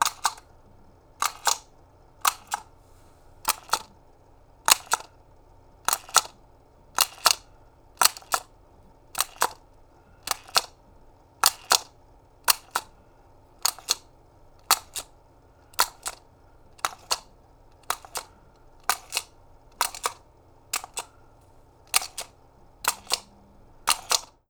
spinning face toy 1.2 - 2.7
spinning face toy 3.4 - 3.9
spinning face toy 4.7 - 5.1
spinning face toy 5.8 - 7.4
spinning face toy 8.0 - 8.5
spinning face toy 9.1 - 9.6
spinning face toy 10.2 - 10.8
spinning face toy 11.4 - 11.9
spinning face toy 12.5 - 12.9
spinning face toy 13.6 - 14.0
spinning face toy 14.6 - 15.1
spinning face toy 15.8 - 21.1
spinning face toy 21.8 - 24.4

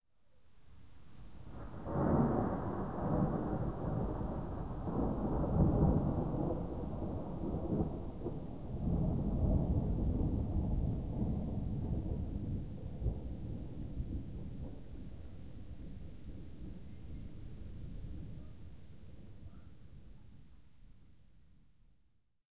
Distant thunder from a passing thunderstorm 1.4 - 18.5

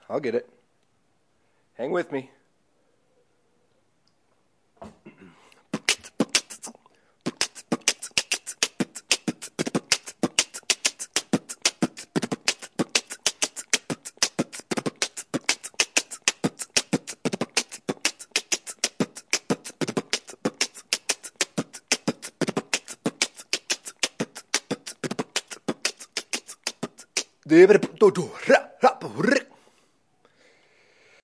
highhat 5.7 - 28.2
snare 5.8 - 6.7

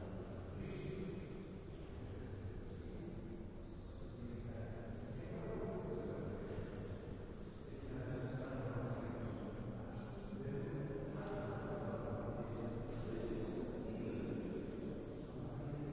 distant voices talking 7.4 - 15.9

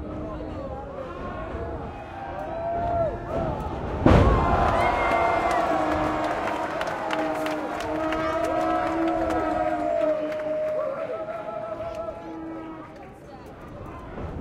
Mexican Wrestling 0.0 - 13.2
cheering 0.8 - 13.2
referee 1.9 - 13.0
yelling 1.9 - 13.0
clapping 4.4 - 11.2

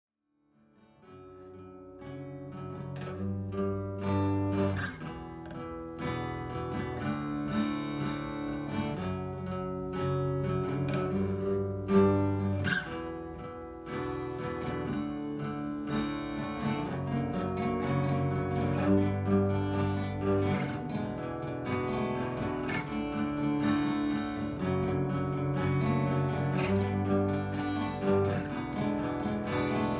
acoustic guitar riff 0.7 - 29.9

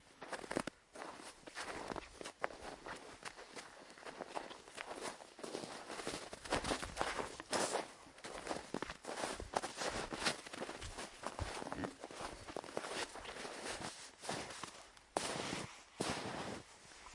Steps in the snow 0.1 - 17.1

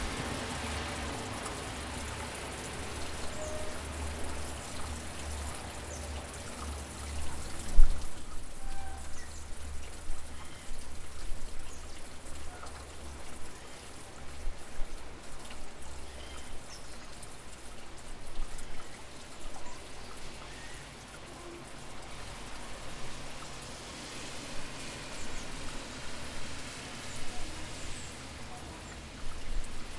Summer rain 0.0 - 29.9

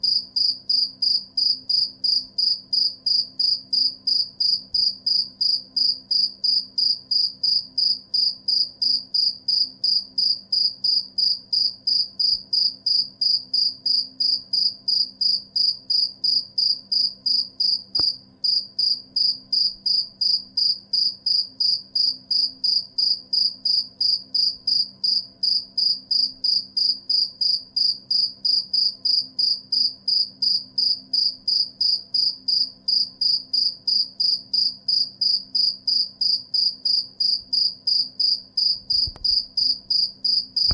single cricket 0.0 - 40.7

